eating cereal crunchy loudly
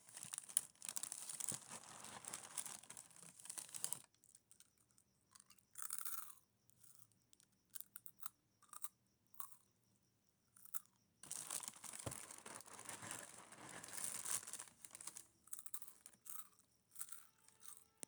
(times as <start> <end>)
0.0 4.0